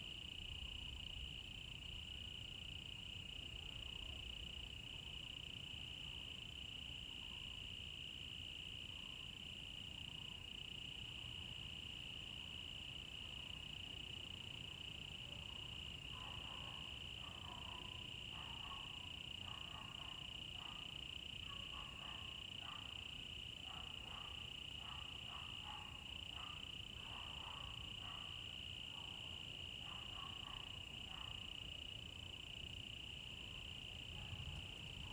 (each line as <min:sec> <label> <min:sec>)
0:07.6 Insects sounds 0:35.1